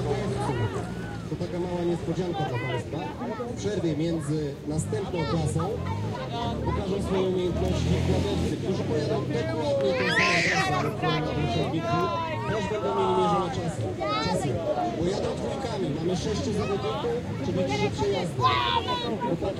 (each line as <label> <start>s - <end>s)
crowd 0.0s - 19.5s
tractor race 0.0s - 19.5s